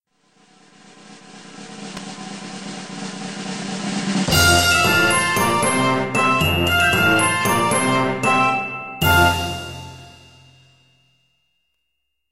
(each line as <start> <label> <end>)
0.2 Drum Roll 8.4
0.8 cymbals 11.0
4.3 brass 10.5
4.3 flute 10.4
4.3 piccolo 10.6
4.3 glockenspiel 12.3
9.0 Drum Roll 10.5